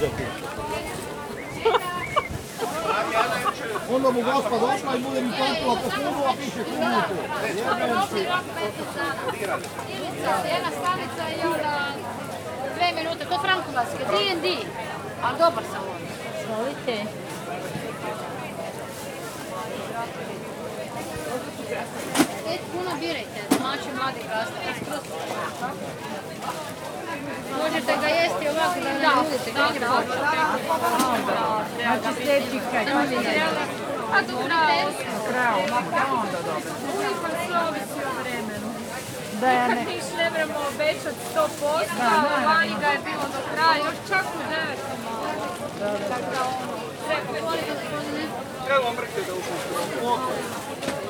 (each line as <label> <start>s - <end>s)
voices from vicinity 0.0s - 51.0s